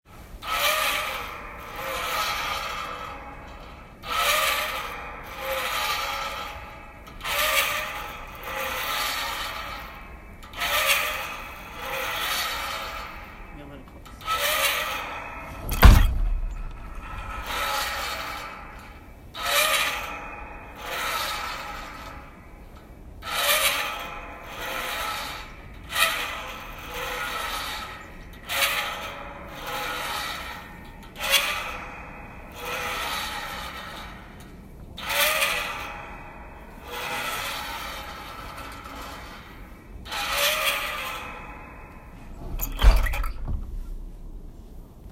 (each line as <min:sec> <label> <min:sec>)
0:00.2 Old metal squeaking 0:45.1
0:13.5 voice 0:14.0